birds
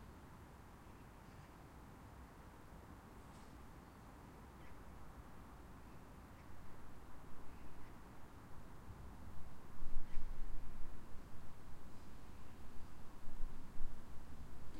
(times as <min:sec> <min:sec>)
0:00.7 0:01.7, 0:03.2 0:08.5, 0:09.9 0:10.8